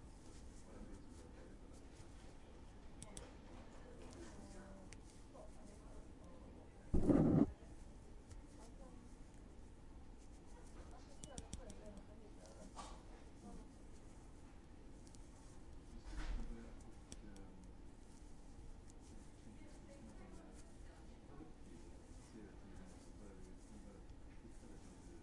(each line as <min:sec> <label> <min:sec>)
0:07.0 knit 0:09.5
0:10.2 knit 0:21.0
0:21.6 knit 0:25.1